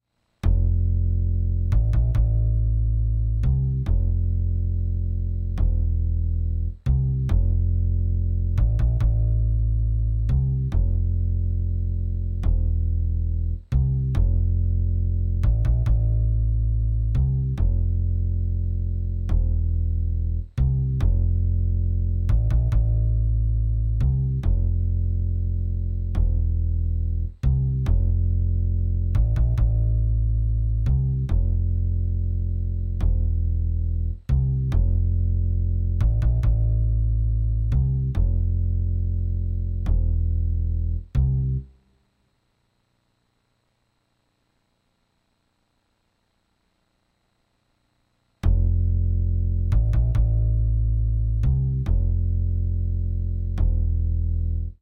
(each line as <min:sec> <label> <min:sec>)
0:00.0 Bass groove 0:41.8
0:48.4 Bass groove 0:54.8